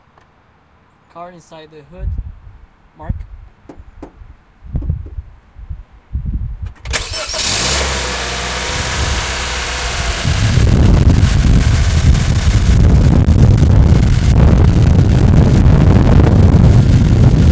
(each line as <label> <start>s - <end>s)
Civic starting from inside the car 6.9s - 10.6s